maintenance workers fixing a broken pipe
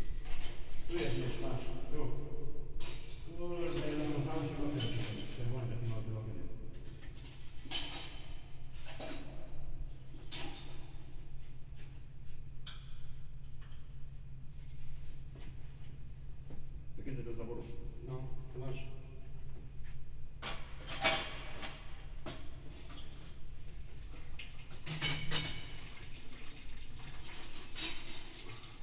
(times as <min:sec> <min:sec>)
0:20.4 0:23.4, 0:24.0 0:28.8